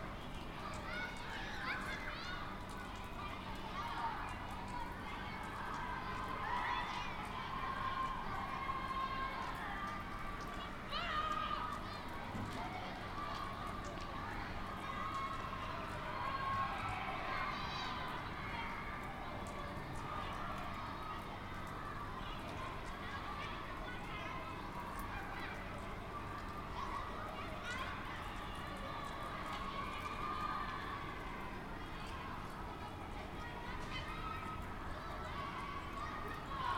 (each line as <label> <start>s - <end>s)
Children playing in the rain 0.0s - 36.7s